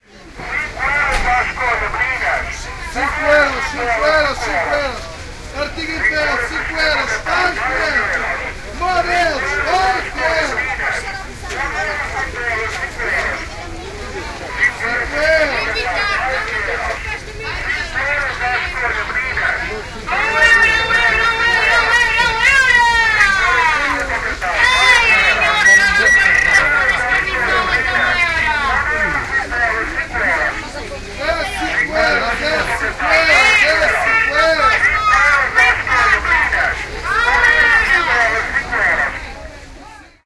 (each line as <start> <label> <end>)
0.0 Noisy market traders competing for your attention 40.2